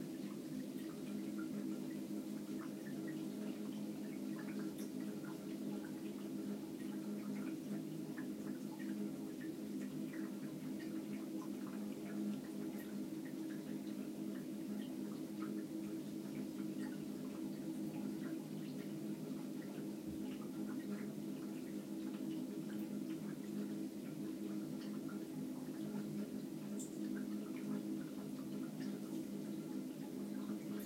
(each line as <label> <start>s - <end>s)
water flowing 0.0s - 30.8s